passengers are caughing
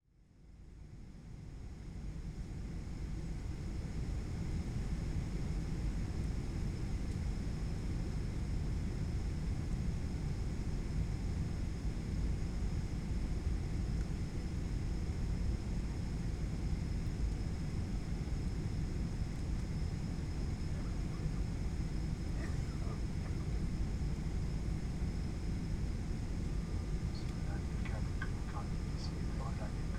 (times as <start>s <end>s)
22.4s 23.6s